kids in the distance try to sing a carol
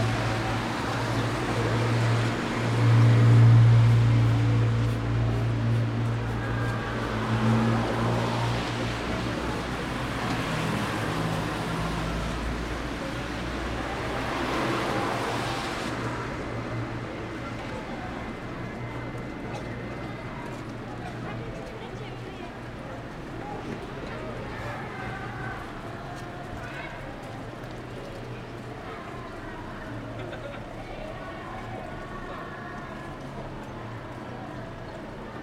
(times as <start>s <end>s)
28.2s 35.4s